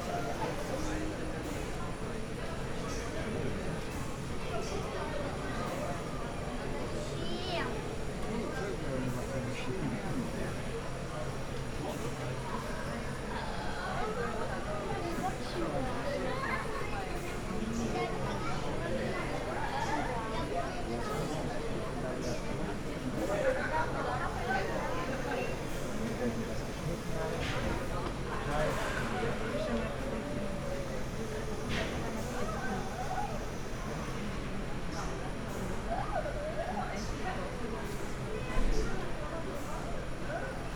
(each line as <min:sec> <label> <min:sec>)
0:00.0 people waiting for sweets 0:40.7